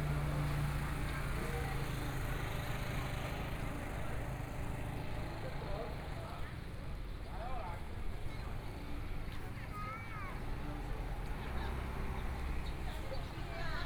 8.0s Walking through the market 13.8s

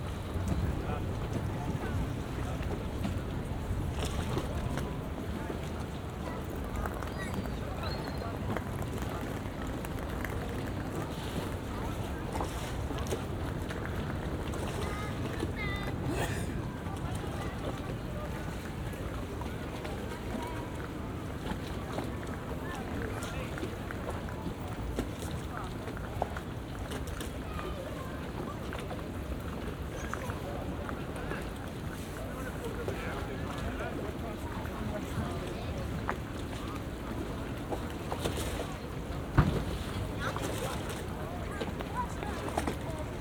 0.0s Gondolas bobbing on the waves 43.2s

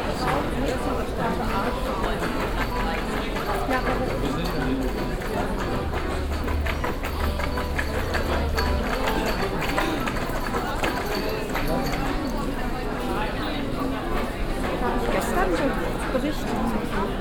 0.0s people 17.2s
0.0s puppenspieler mit akkordeon 17.2s

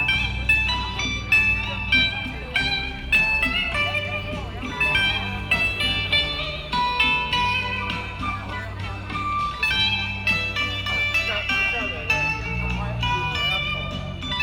0.0s Community party 14.4s
0.0s traffic sound 14.4s

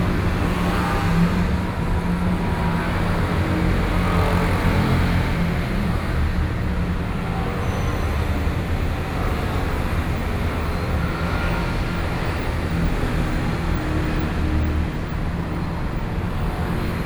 0.0s Traffic noise 17.0s

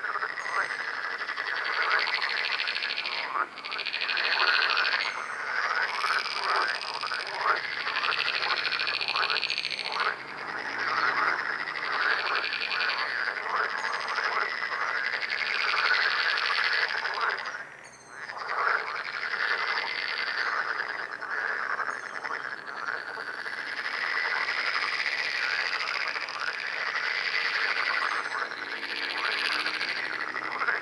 0.0s Frogs chorus 30.8s

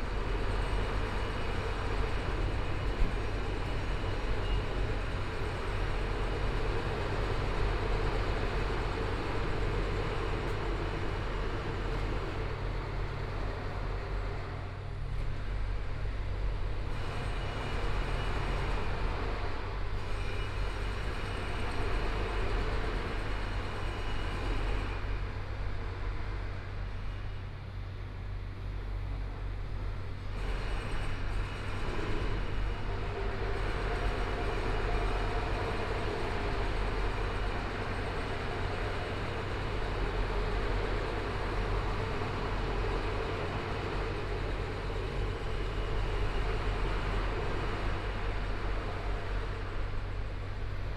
0.0s Traffic Sound 15.6s
0.0s Construction site sounds 50.9s
0.0s Pedestrian 50.9s

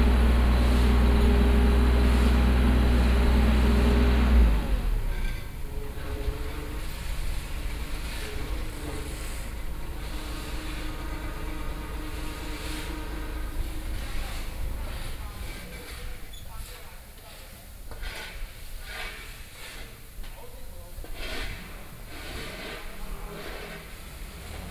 0.0s Fill pavement engineering 24.7s

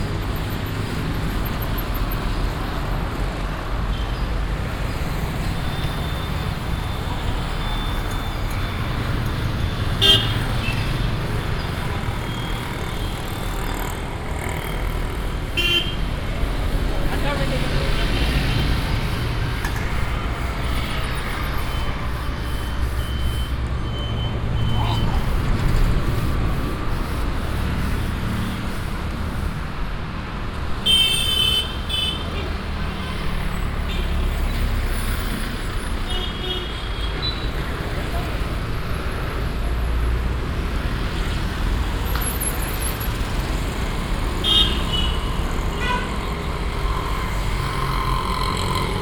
0.0s cars, busses, lorries, motorbikes and tricycles passing by 49.0s

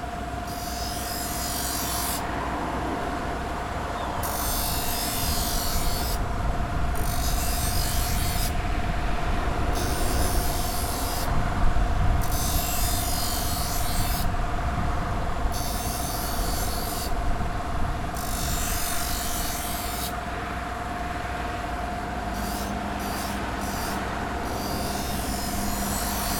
0.4s man sharpening restaurant knives on an electric grinder 2.3s
4.2s man sharpening restaurant knives on an electric grinder 6.3s
6.9s man sharpening restaurant knives on an electric grinder 8.6s
9.7s man sharpening restaurant knives on an electric grinder 11.4s
12.2s man sharpening restaurant knives on an electric grinder 14.4s
15.5s man sharpening restaurant knives on an electric grinder 17.2s
18.1s man sharpening restaurant knives on an electric grinder 20.2s
22.2s man sharpening restaurant knives on an electric grinder 26.3s

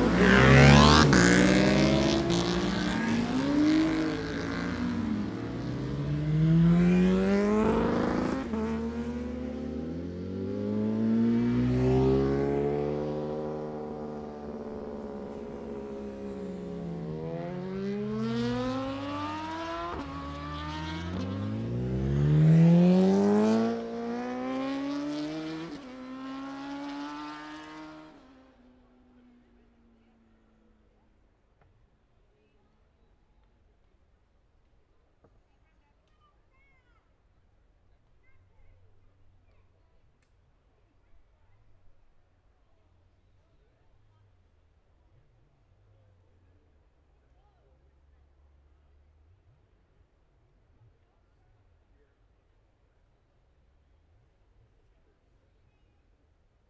0.0s Motorcycle Road Racing 31.1s

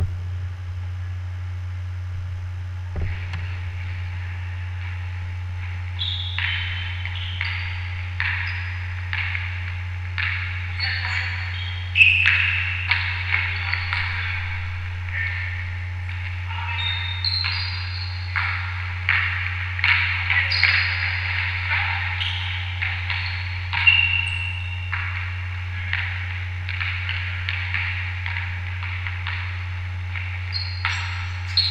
2.9s Basketball Practice 31.7s

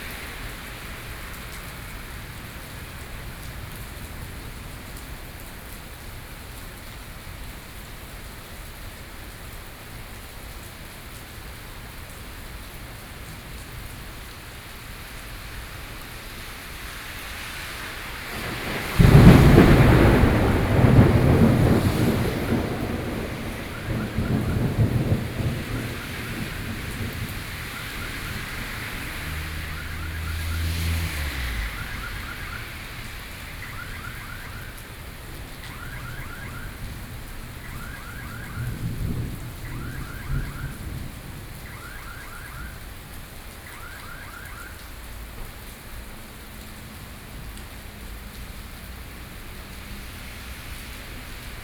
17.5s Thunderstorm 44.7s

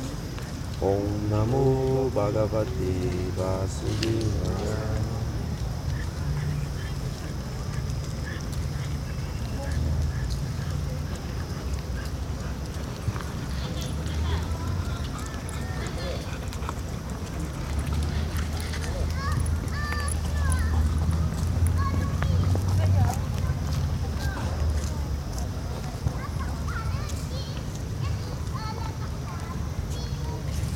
0.0s People are walking around 30.7s
0.0s city is in background 30.7s
0.8s two people are meditating 4.3s

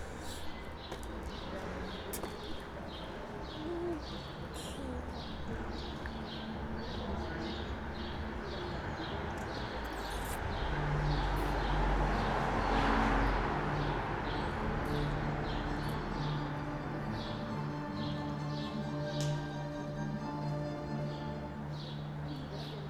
0.0s voices in the street 22.8s
13.2s music from an open window 22.8s

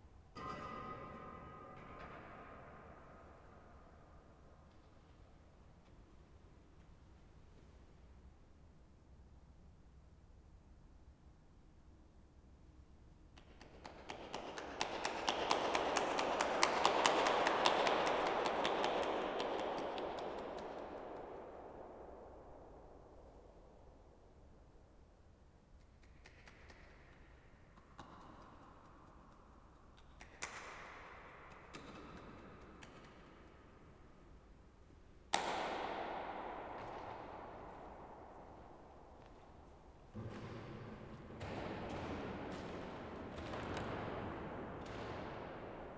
31.9s walking in the corridor 45.9s

